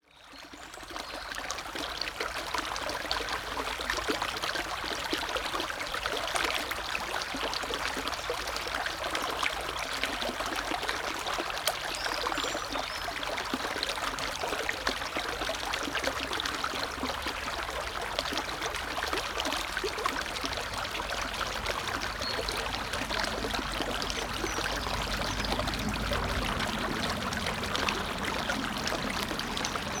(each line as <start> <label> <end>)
0.0 water flowing through a small stream 30.0
16.2 traffic 30.0